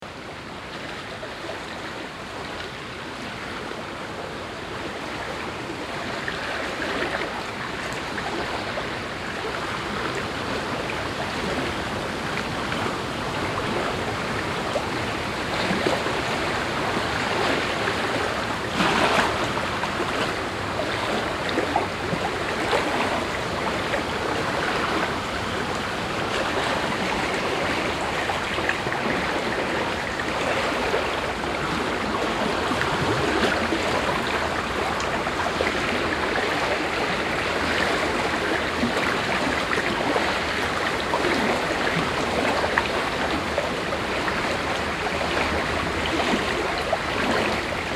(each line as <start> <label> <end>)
0.0 ruffled water 47.9